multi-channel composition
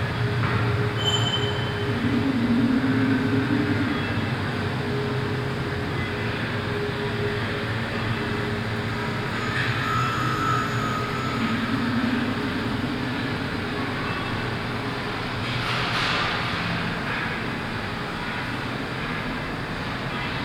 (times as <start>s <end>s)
1.6s 15.4s